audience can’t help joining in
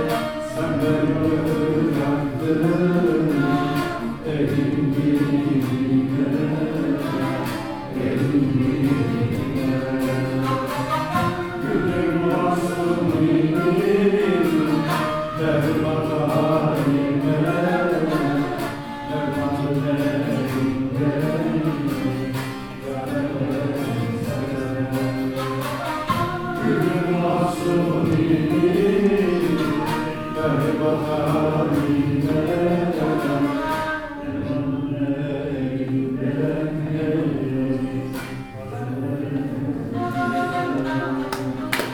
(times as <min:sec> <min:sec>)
0:37.5 0:41.9